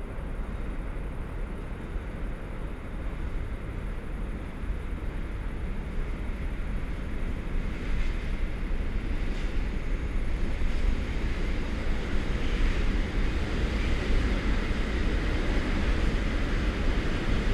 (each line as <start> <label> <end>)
0.0 cargo trains 17.5